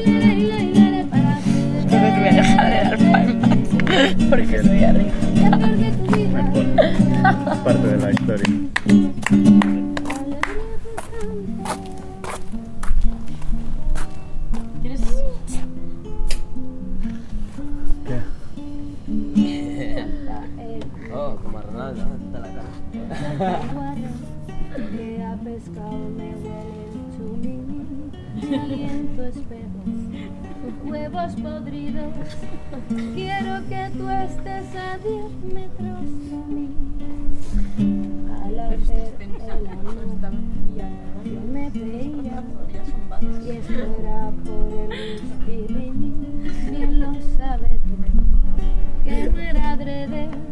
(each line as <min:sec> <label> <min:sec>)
0:00.0 people coming to the music campa 0:25.6
0:37.4 people coming to the music campa 0:44.3